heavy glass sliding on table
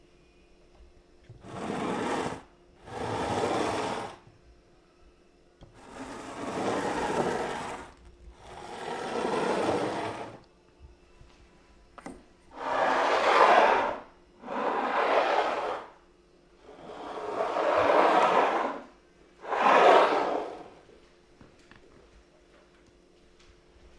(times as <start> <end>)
1.4 4.2, 5.8 10.4, 12.5 16.0, 16.6 20.7